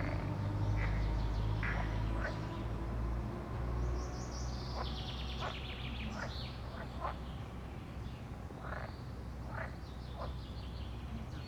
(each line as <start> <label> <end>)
0.0 frogs 3.0
0.0 birds 3.1
3.8 birds 11.4
4.7 frogs 7.2
8.6 frogs 10.4